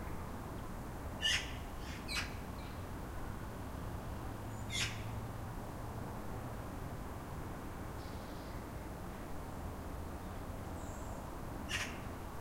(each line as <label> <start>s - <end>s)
magpie 1.2s - 2.4s
magpie 11.7s - 12.0s